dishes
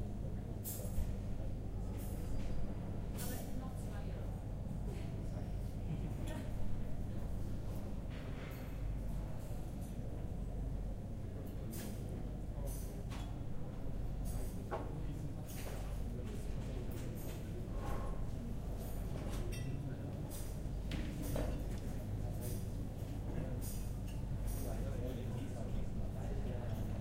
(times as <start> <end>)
19.0 22.7